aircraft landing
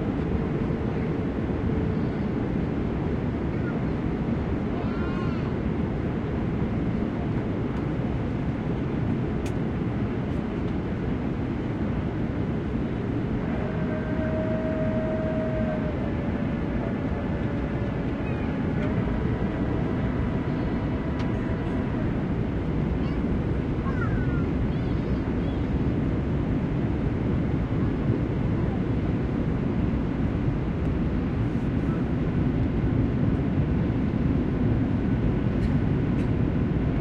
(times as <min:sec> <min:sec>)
0:09.1 0:36.9